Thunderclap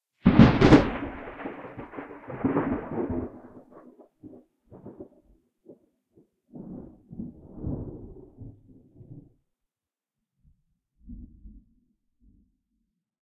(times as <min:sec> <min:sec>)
0:00.2 0:05.8, 0:06.5 0:09.4